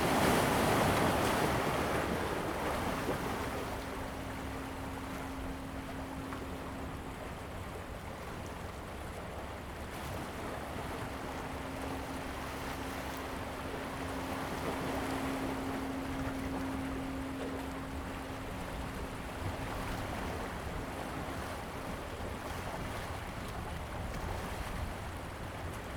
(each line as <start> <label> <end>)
0.0 waves 25.9